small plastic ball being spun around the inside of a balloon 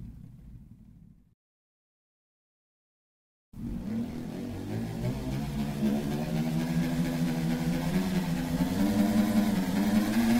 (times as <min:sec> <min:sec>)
0:03.6 0:10.3